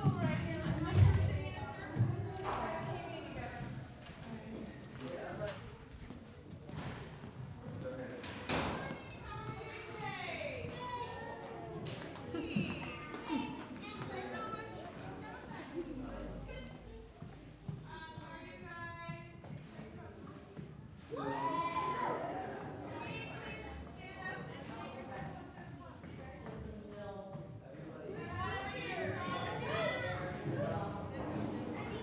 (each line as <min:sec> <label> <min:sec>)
0:05.9 Kids settling in 0:19.5
0:21.0 Kids settling in 0:26.6
0:28.1 Kids settling in 0:32.0